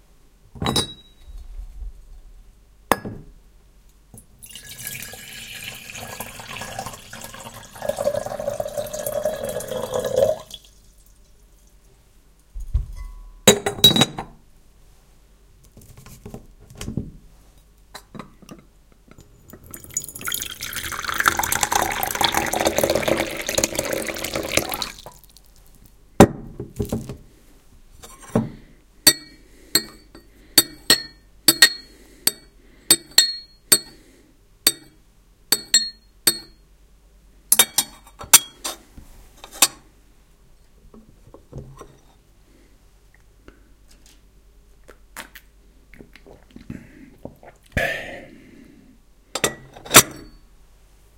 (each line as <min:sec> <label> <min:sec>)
0:04.4 a cupful is poured 0:10.8
0:04.4 water is poured in 0:11.1
0:19.6 a cupful is poured 0:25.8
0:19.7 water is poured in 0:25.7